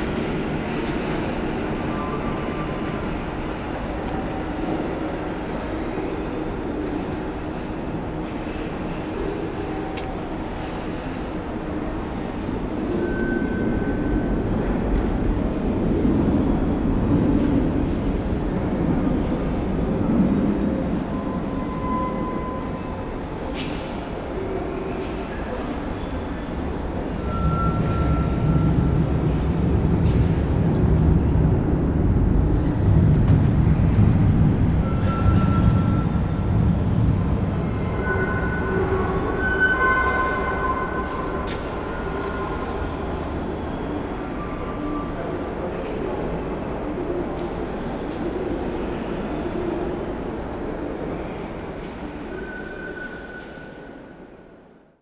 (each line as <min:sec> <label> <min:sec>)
0:00.0 traffic above 0:51.2